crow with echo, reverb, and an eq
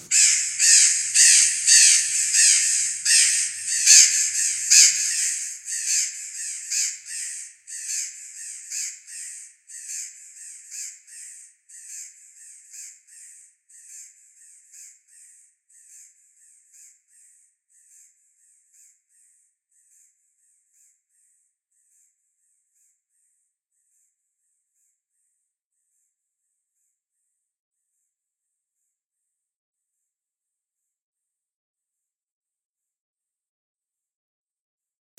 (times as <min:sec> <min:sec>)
0:00.0 0:18.9